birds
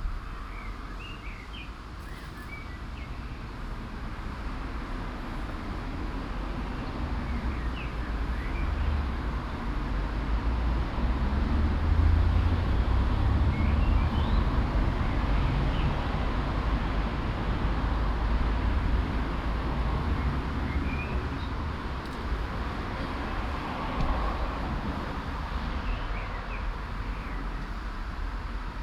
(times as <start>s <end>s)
0.2s 3.6s, 25.6s 27.9s